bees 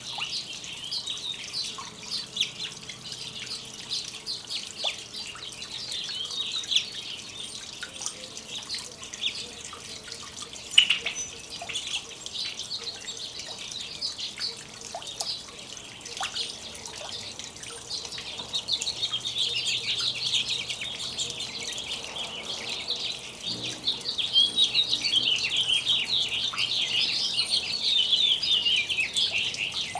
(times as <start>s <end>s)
19.9s 29.9s